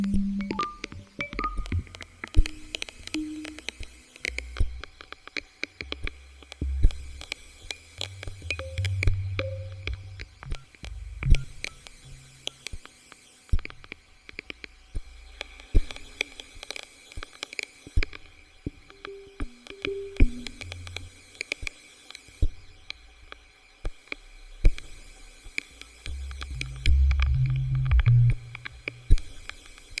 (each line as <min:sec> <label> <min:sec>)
0:00.0 tape hiss 0:13.1
0:00.0 crackle 0:30.0
0:13.7 tape hiss 0:30.0